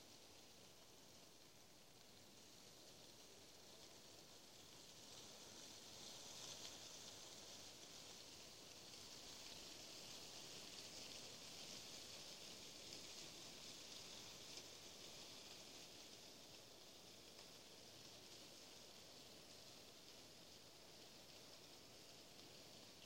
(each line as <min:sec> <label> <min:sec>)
0:00.0 soft wind russeling through ash leaves 0:23.0